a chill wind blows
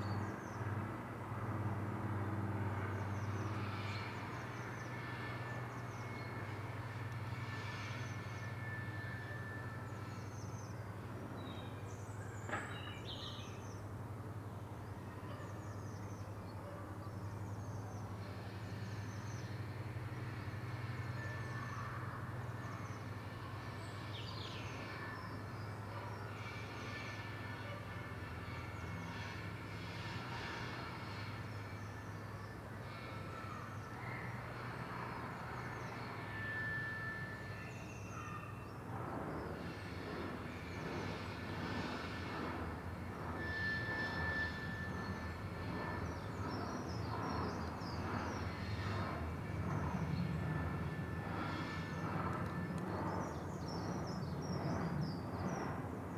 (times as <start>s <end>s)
37.5s 56.1s